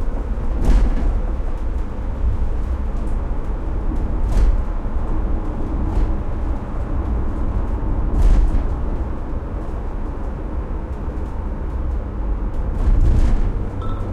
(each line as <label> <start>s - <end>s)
Driving On Bad Road 0.0s - 14.1s